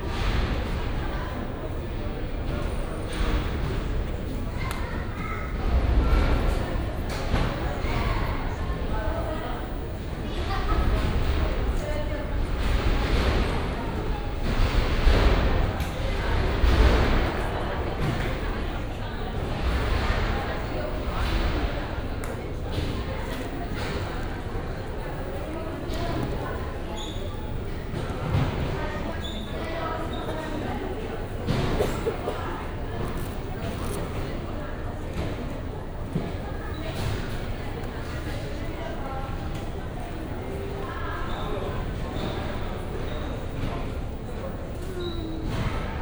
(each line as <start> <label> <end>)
0.0 conveyor belts 46.0
0.0 tired and nervous people waiting 46.0
10.3 clatter on the other side of the wall 39.8